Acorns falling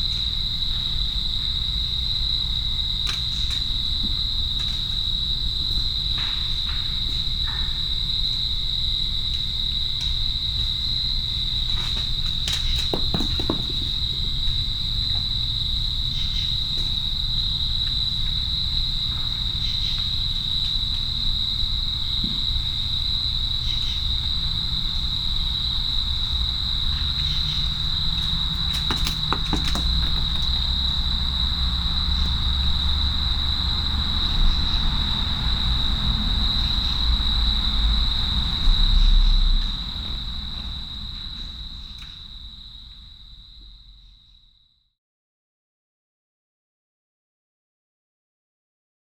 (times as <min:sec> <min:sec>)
0:28.6 0:30.7